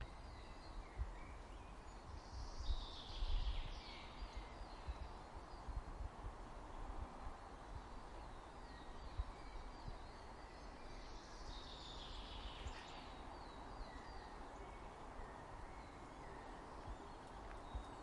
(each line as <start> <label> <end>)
8.0 Random birds 18.0